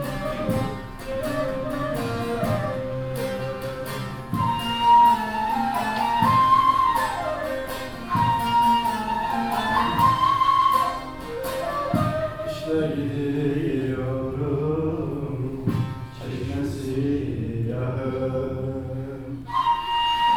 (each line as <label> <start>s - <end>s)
Poems recited 0.0s - 20.3s